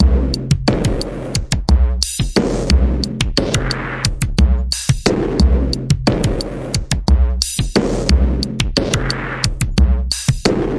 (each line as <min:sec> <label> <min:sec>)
0:00.0 Distorted and super compressed modular drums 0:10.7